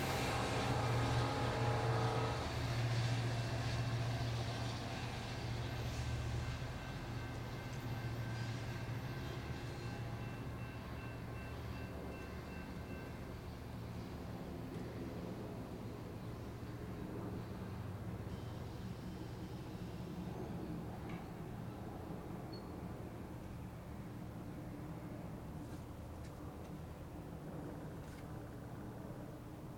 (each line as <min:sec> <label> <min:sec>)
0:00.0 train pulls in, loads, and continues on its way 0:29.7